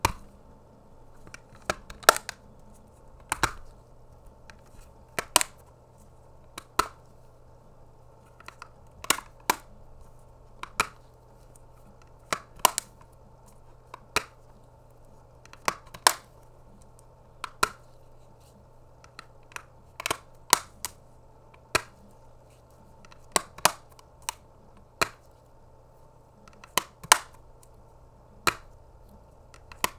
1.3s nintendo switch game case opening and closing 2.4s

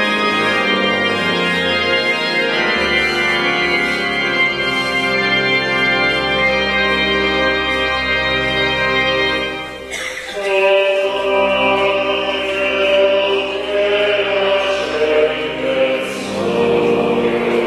9.8s crowd 12.2s
10.0s singing 17.6s

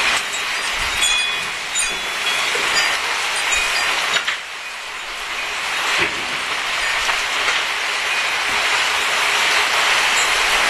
0.0s rain 10.6s
0.0s wind 10.6s

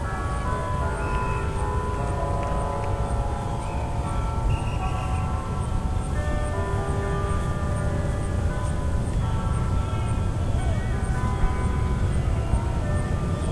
0.0s church bell melody 13.5s
0.0s crickets 13.5s
0.2s birds 13.5s
2.0s foot steps on sidewalk 3.1s
3.6s coaches whistles 5.3s
9.3s kids yelling 13.5s

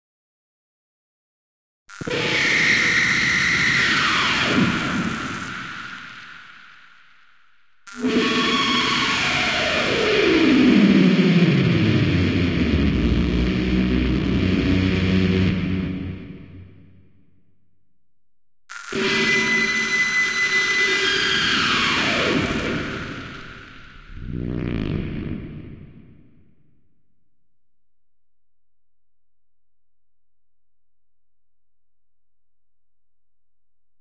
8.0s guitar 16.7s
18.8s guitar 26.0s

